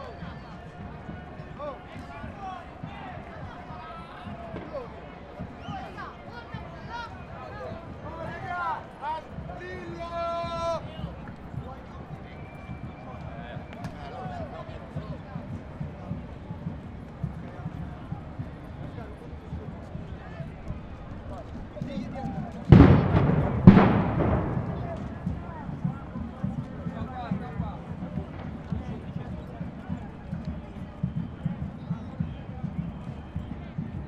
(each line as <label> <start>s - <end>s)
explosions are provoked by demostrants homemade bomb 22.7s - 25.2s